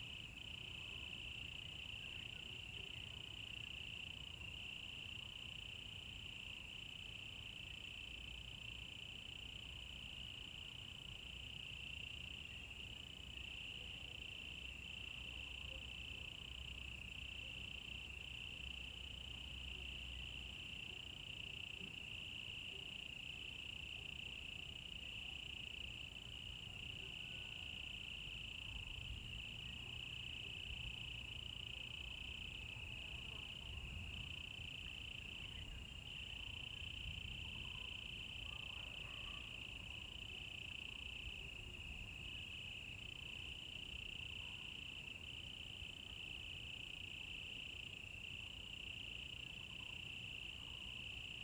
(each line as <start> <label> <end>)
0.0 Insects sounds 51.4